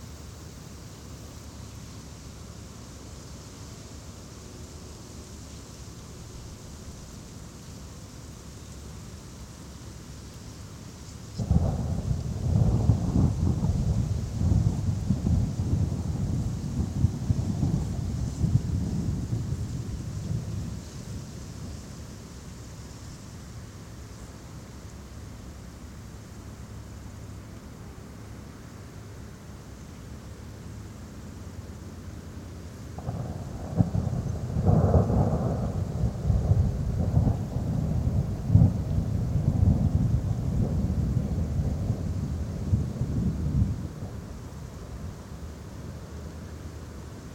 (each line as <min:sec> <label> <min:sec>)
0:00.0 rain starts 0:47.3